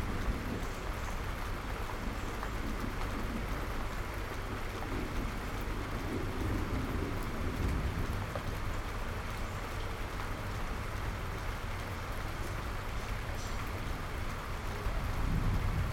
Rain 0.0 - 15.9
thunder 15.1 - 15.9

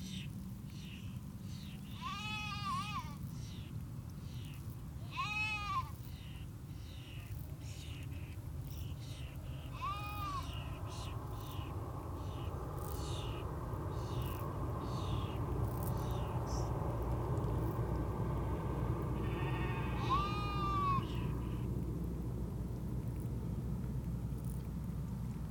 Arctic Terns 0.0 - 22.0
slight swell of the tide 0.0 - 25.5
Shetland sheep 1.8 - 3.2
Shetland sheep 5.0 - 6.4

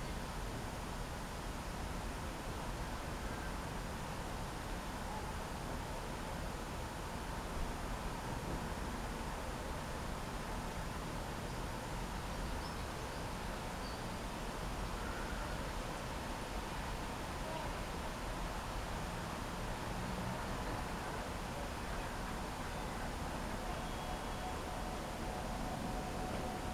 noise of the traffic on the ring road 15.2 - 26.7

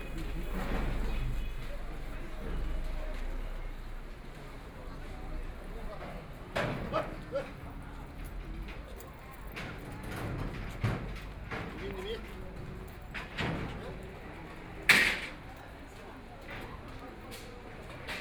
Traffic Sound 0.0 - 13.4

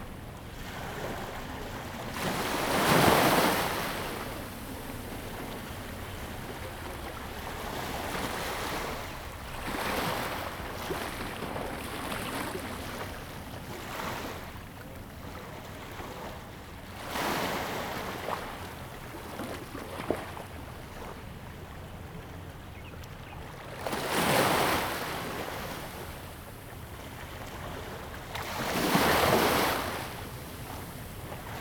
waves 0.0 - 31.6

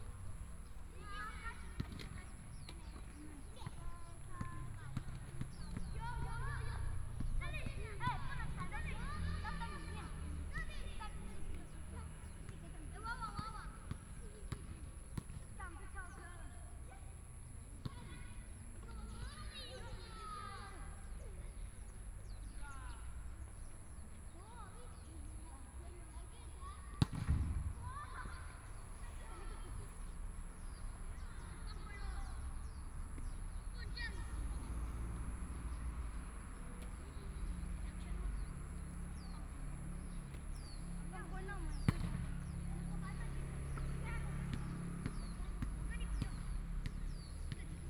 Children In the school 0.0 - 14.4
Children In the school 17.8 - 27.0
Children In the school 27.7 - 41.8

